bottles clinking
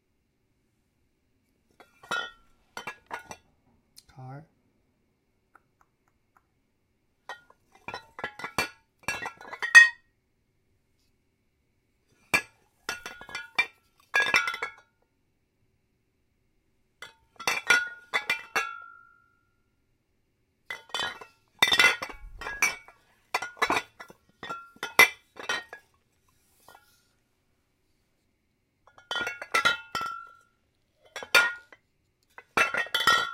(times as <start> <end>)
1.8 3.4, 12.4 14.8, 17.3 18.9, 20.7 25.9, 28.9 31.8, 32.4 33.3